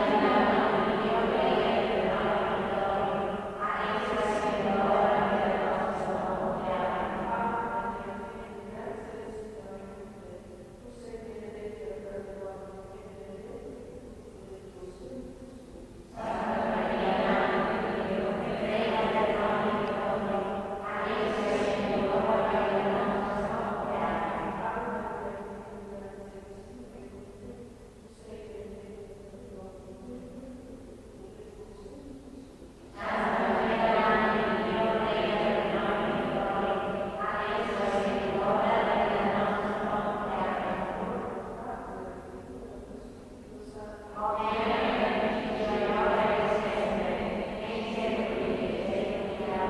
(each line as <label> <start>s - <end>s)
Nuns praying 0.0s - 49.6s